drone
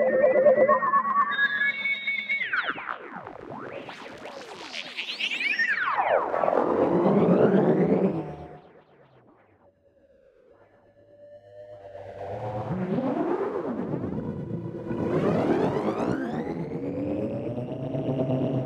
5.0 9.1, 10.8 18.6

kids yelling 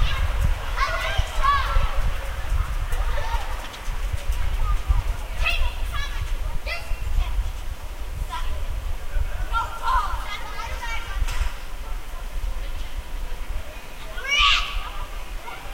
0.0 3.8, 4.7 7.4, 9.5 11.6, 14.0 15.7

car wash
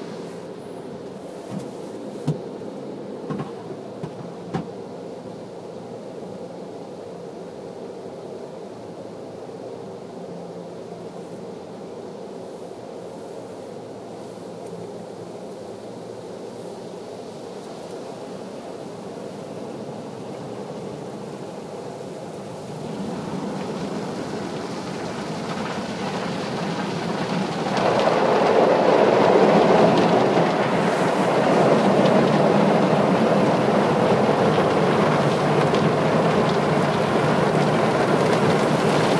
0.0 4.8, 19.5 39.1

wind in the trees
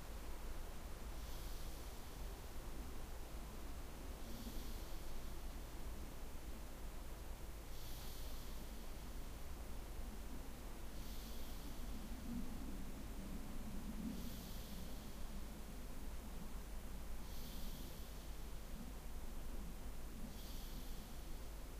8.6 21.7

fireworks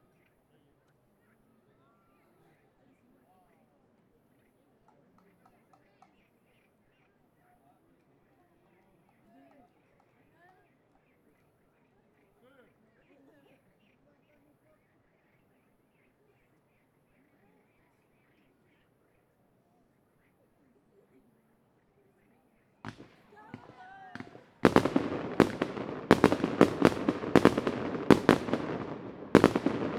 22.8 29.9

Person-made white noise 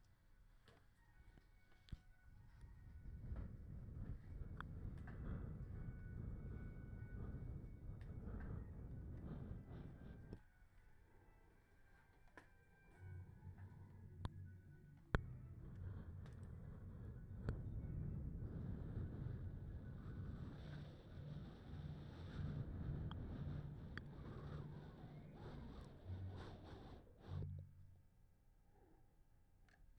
2.4 10.4, 15.1 27.5

